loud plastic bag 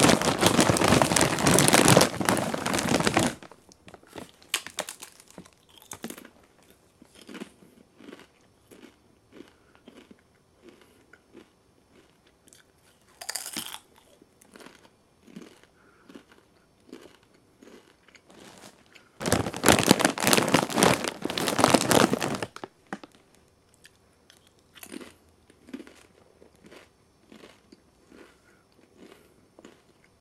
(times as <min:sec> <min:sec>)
0:00.0 0:05.4, 0:18.3 0:23.1